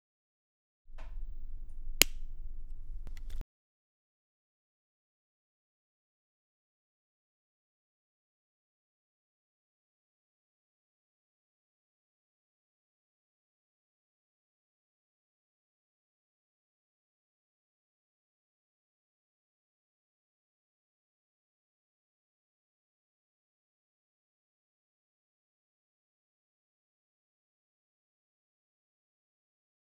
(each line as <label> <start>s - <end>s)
pen click 2.0s - 3.4s